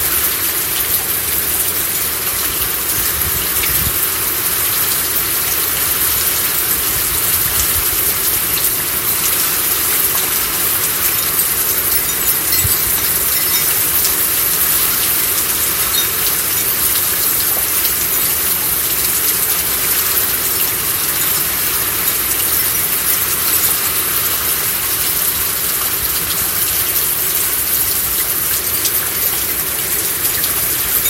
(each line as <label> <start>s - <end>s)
Rain 0.0s - 31.0s
Wind 0.0s - 31.0s
Windchimes 7.4s - 24.7s
Windchimes 27.6s - 31.0s